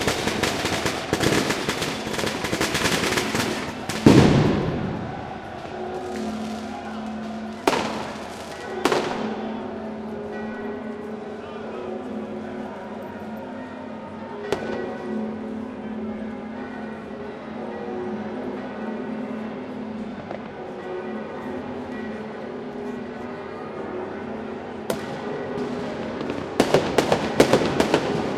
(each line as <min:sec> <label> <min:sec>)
0:00.0 fireworks 0:09.6
0:00.0 bells start tolling 0:28.3
0:14.5 fireworks 0:15.1
0:24.9 fireworks 0:28.3